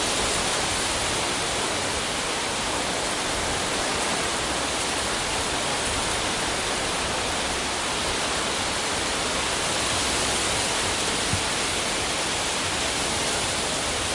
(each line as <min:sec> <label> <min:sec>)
0:00.0 leaves sound from an big oak 0:14.1